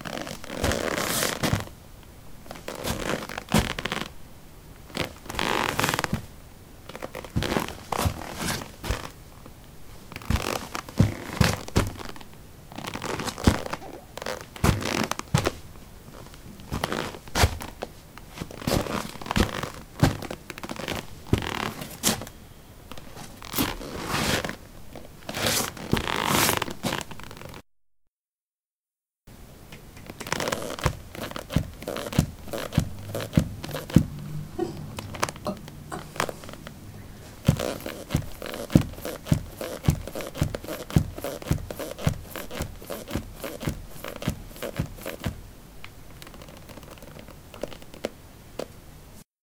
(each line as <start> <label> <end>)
0.0 soil 18b trekkingboots shuffle tap 1.7
6.9 soil 18b trekkingboots shuffle tap 9.2
10.1 soil 18b trekkingboots shuffle tap 15.6
16.2 soil 18b trekkingboots shuffle tap 22.3
29.7 soil 18b trekkingboots shuffle tap 34.2
35.0 soil 18b trekkingboots shuffle tap 45.4